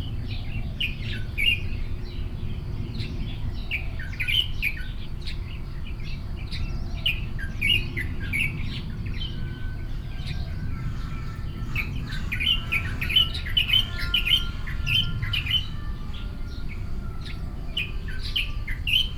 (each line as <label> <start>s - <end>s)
birds 7.6s - 19.1s